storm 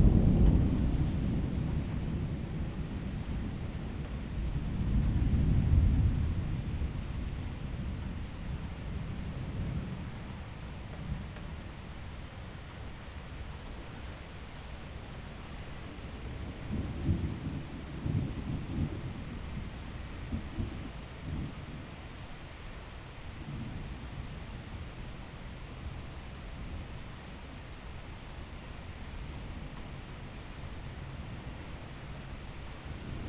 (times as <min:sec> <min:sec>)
0:00.0 0:11.4, 0:15.9 0:22.0, 0:32.6 0:33.2